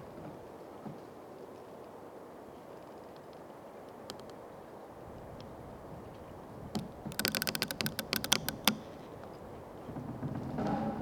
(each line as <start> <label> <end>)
6.7 creaking tree 11.0